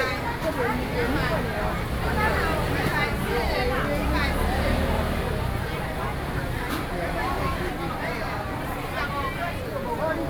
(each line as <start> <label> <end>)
0.0 Walking through the traditional market 10.2